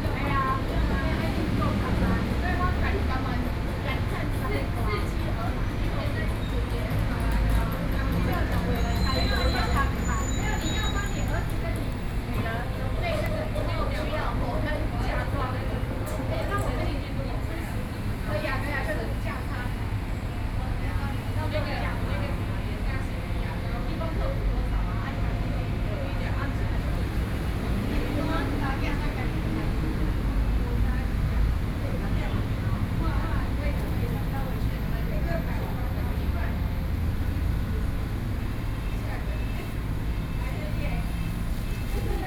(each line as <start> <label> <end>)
0.0 group of women chatting 42.2